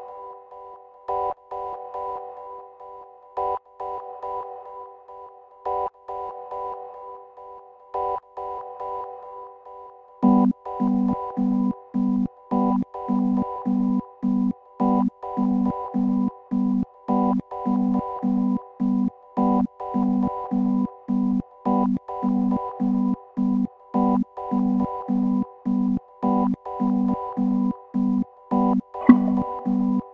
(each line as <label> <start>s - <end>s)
Short tune 29.0s - 29.5s